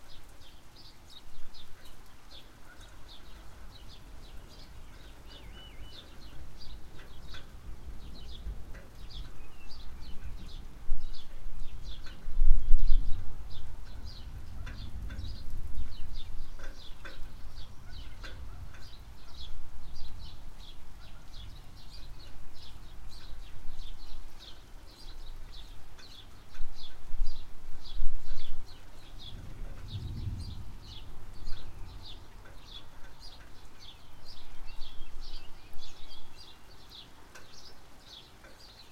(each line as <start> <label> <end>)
0.0 birds 38.9
0.0 mild rain 38.9
14.0 far away thunder 16.9
29.2 far away thunder 32.8